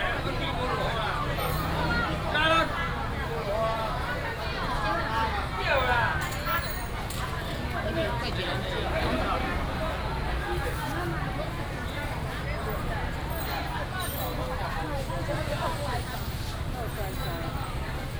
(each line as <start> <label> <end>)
0.0 traffic sound 18.1